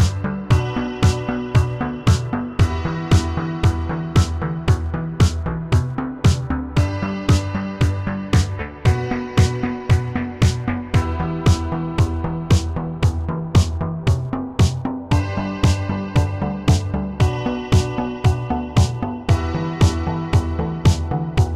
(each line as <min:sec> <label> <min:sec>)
0:00.0 kick 0:21.5
0:00.0 synth 0:21.5